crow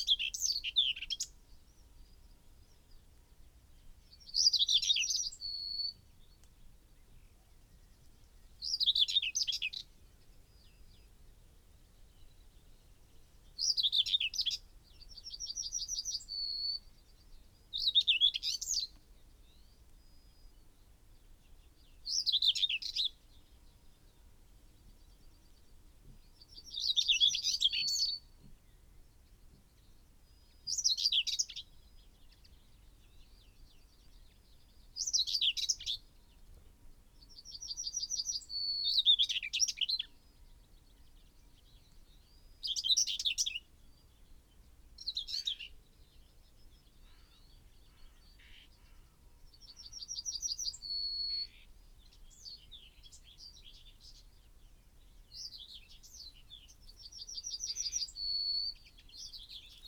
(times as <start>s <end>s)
47.0s 49.2s